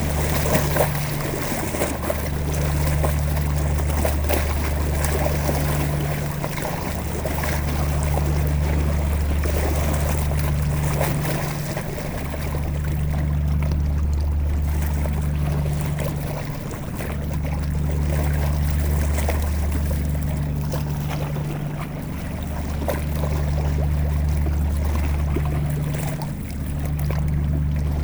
0.0s boat is passing by on the Seine river 28.0s

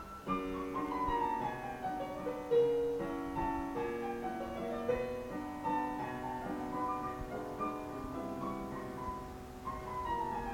0.0s playing chopin on the piano 10.5s

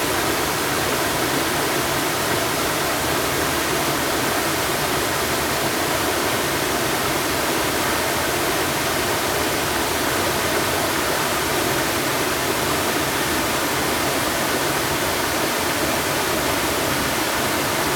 0.0s waterfall 17.9s

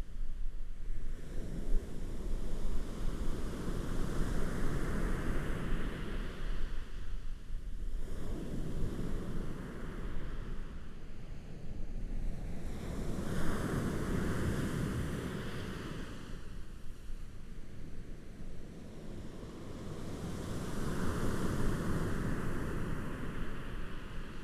12.5s waves 24.4s

